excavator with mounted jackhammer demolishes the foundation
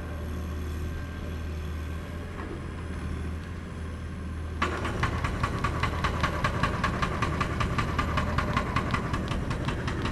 4.6 10.1

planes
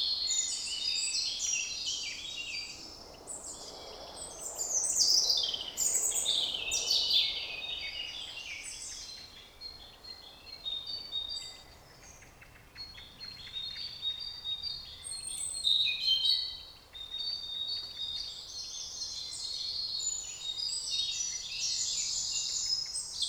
2.4 9.3

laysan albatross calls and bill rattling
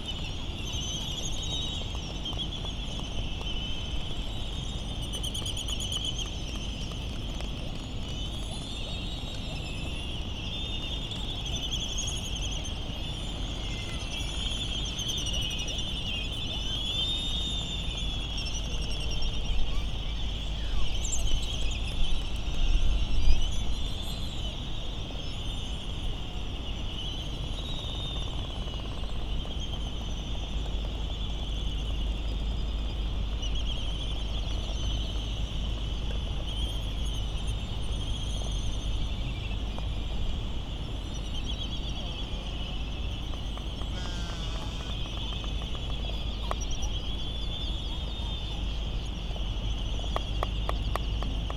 43.2 48.7

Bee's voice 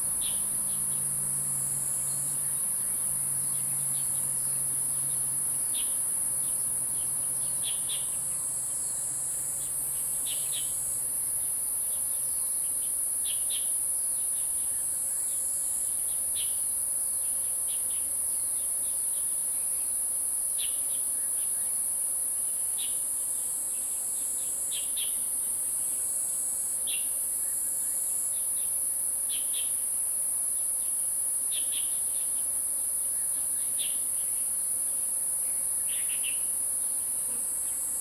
36.8 38.0

